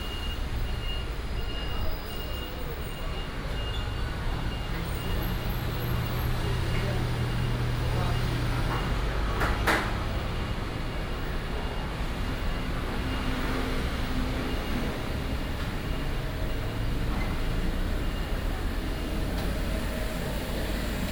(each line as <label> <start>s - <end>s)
traffic sound 0.0s - 21.1s